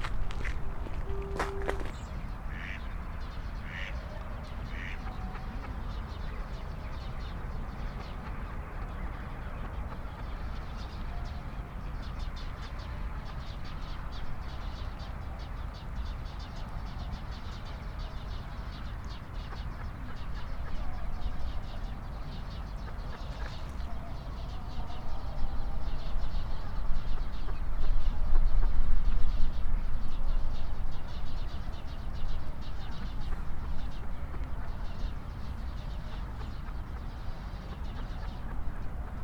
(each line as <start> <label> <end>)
0.0 Runners 2.1
0.0 close footsteps 2.2
0.0 voices of passerby 2.8
0.0 Birds 29.5
0.0 traffic hum in the background 39.2
0.8 police & ambulance sirens 2.2